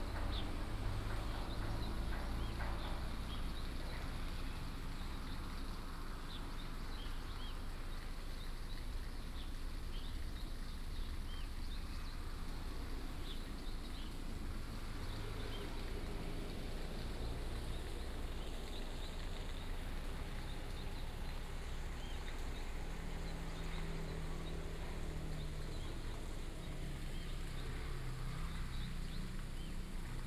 river 0.0 - 30.2

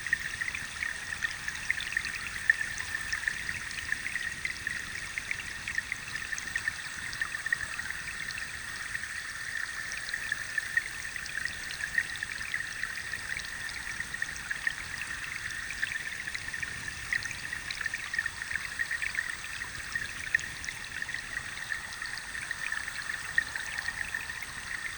river 0.0 - 24.9

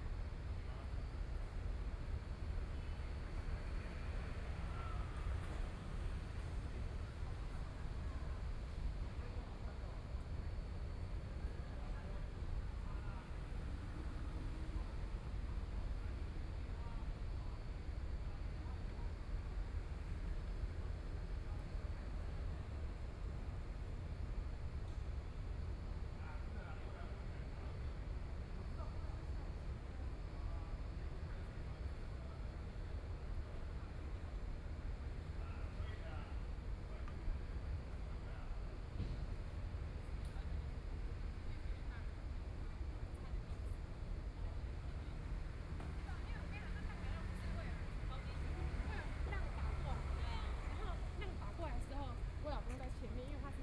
Traffic Sound 45.8 - 52.9

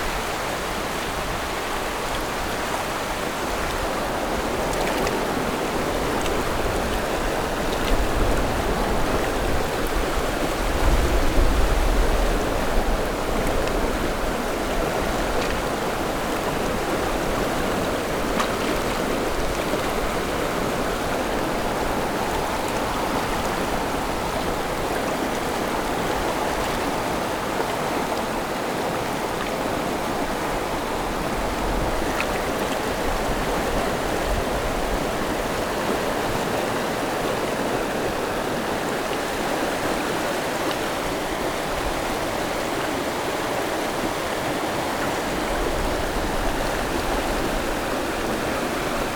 Stream after Typhoon 0.0 - 49.1

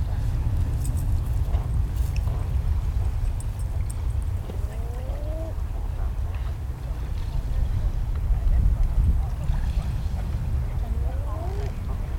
low-level hum of traffic 0.0 - 12.1
puppy playing in the sand 0.0 - 12.1
walkers on the nearby trail 0.0 - 12.1
Common Eider couples hanging out in a cove, calling 1.6 - 12.1
airplane passing overhead 3.8 - 8.5
airplane passing overhead 9.2 - 12.1

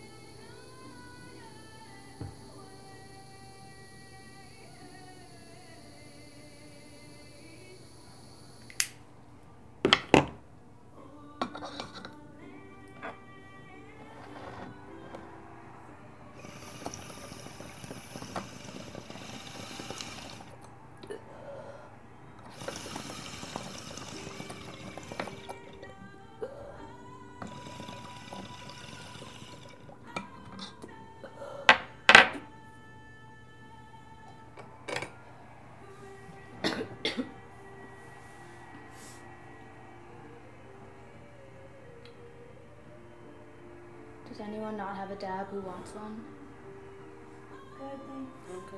national anthem 0.0 - 48.7
smoking hash oil 11.2 - 32.3

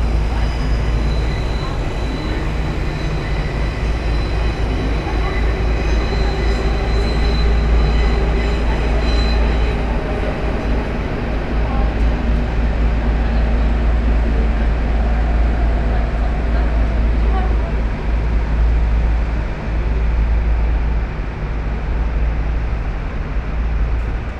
S-bahn trains 0.0 - 24.3

